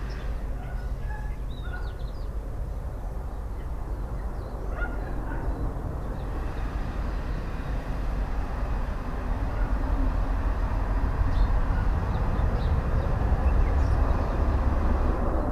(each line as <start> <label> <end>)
0.0 industrial traffic passing by 15.5
4.8 large stock trucks 15.5